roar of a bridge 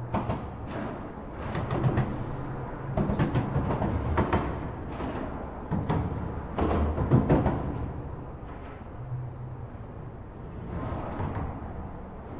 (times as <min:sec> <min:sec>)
0:07.8 0:12.3